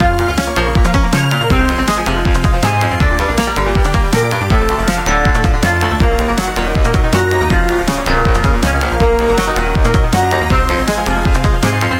drum 0:00.8 - 0:11.7

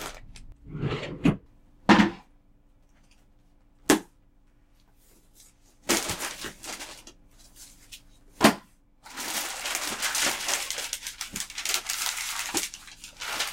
rummaging through drawers and papers 0:00.0 - 0:01.4
rummaging through drawers and papers 0:04.7 - 0:13.5

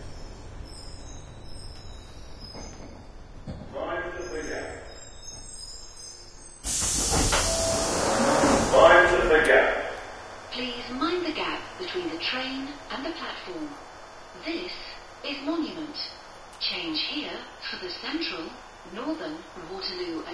Train 0:00.0 - 0:20.3
Announcement 0:03.7 - 0:04.9
Doors 0:06.6 - 0:12.2
Announcement 0:07.4 - 0:20.3

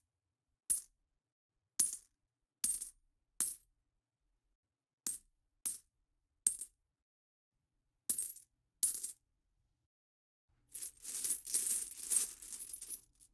Dropping small and large amounts of coins into a pile of coins 0:10.8 - 0:13.3

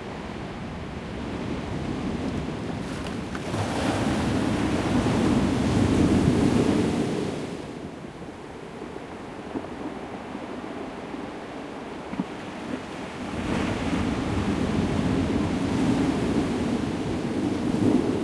waves 0:00.0 - 0:18.2

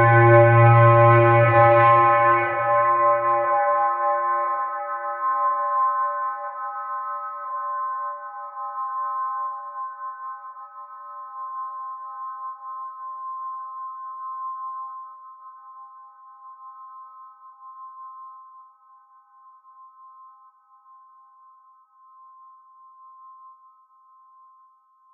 foggy kind of horn 0:00.0 - 0:04.7

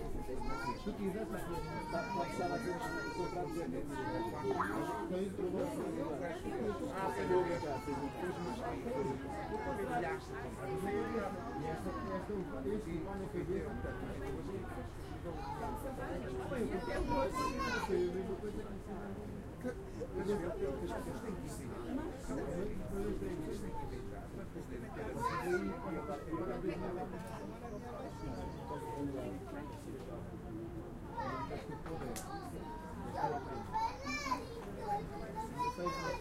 people 0:00.0 - 0:36.2

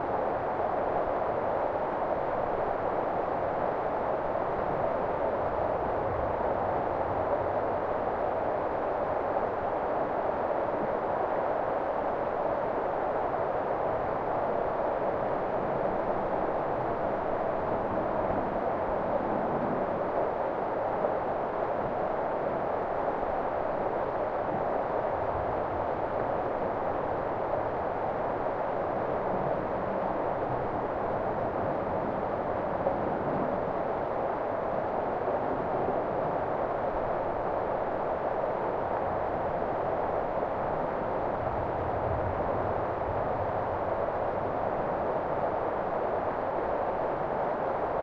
wind 0:00.0 - 0:48.0

